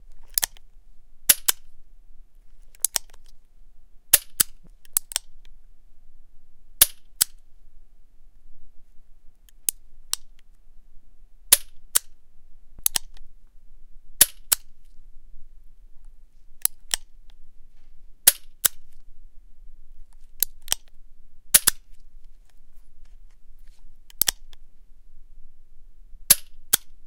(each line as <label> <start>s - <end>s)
pistol 14.2s - 14.6s
reaload 21.5s - 22.0s
pistol 21.6s - 21.8s
pistol 26.3s - 26.8s